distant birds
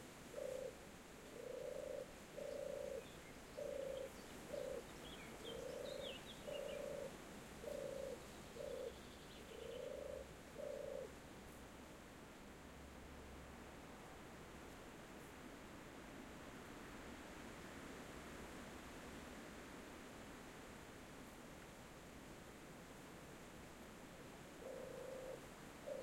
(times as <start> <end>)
0.3 11.1, 24.6 26.0